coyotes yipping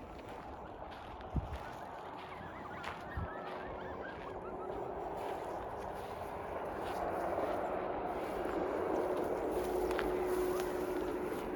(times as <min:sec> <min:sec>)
0:00.2 0:07.7